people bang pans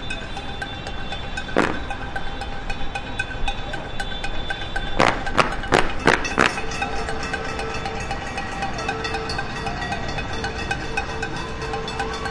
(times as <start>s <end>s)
1.4s 2.4s, 3.6s 7.5s